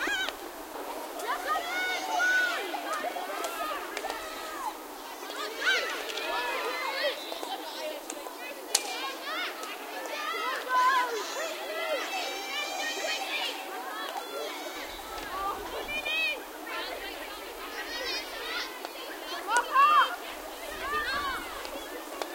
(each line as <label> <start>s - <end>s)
girls hockey match 0.0s - 22.3s